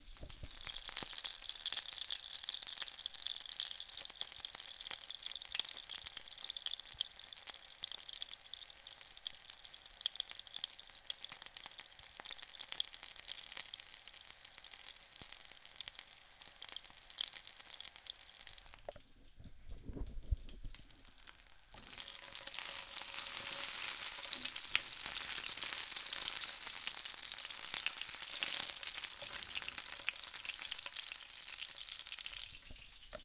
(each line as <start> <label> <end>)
0.0 frying pan in action, oil and all 33.2